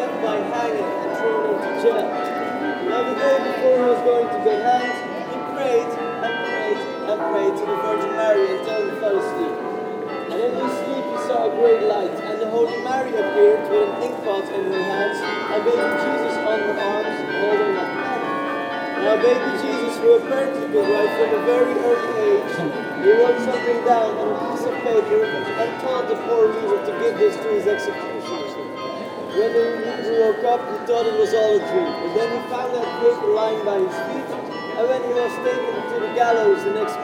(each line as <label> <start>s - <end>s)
flood of tourists 12.1s - 30.4s